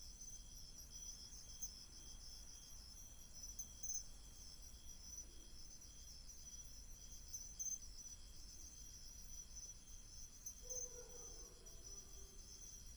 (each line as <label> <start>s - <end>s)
Insects 0.0s - 12.9s